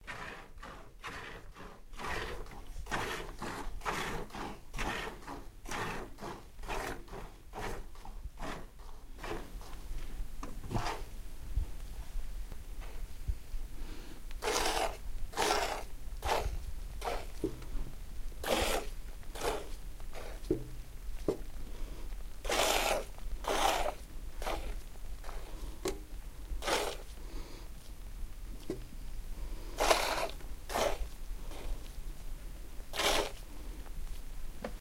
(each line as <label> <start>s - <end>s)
Milking the goat by hand 0.0s - 11.1s
Milking the goat by hand 14.4s - 17.8s
Milking the goat by hand 18.4s - 27.6s
Milking the goat by hand 29.7s - 32.2s
Milking the goat by hand 32.8s - 33.8s